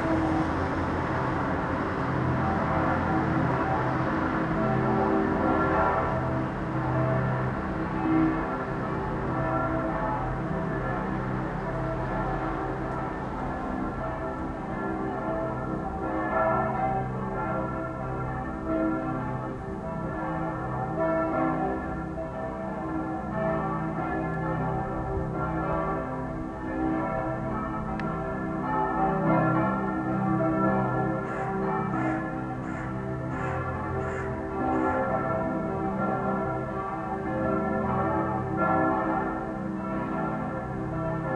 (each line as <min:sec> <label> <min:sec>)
0:00.0 Church Bells 0:41.3